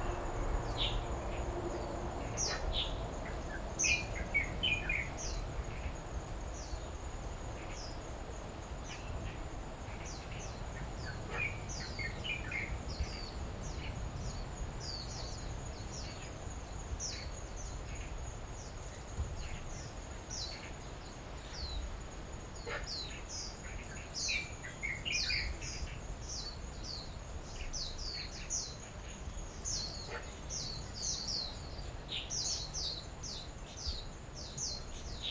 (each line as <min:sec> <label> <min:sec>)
0:00.0 Traffic Sound 0:04.8